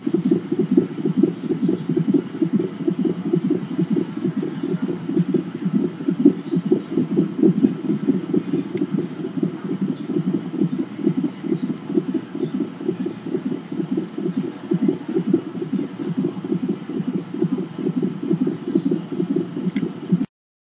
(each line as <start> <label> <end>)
0.0 baby heart monitor floor noise 20.3